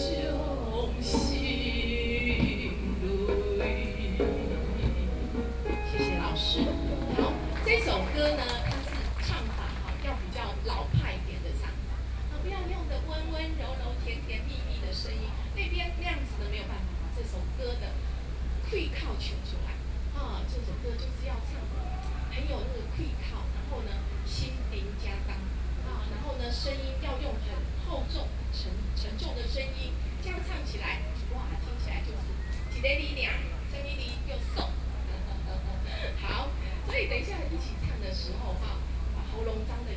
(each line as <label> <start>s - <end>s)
Teach singing Taiwanese songs 0.0s - 9.3s